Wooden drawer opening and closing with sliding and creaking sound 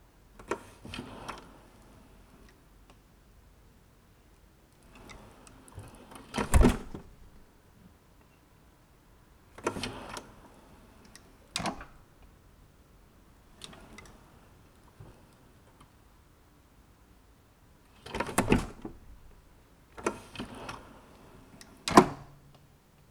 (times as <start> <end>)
6.2 7.5, 11.6 12.1, 18.0 20.9, 21.7 22.4